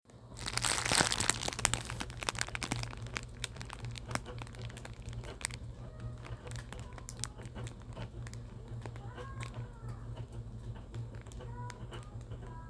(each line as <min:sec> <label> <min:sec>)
0:00.4 ball up the scrap cellophane wrap 0:09.6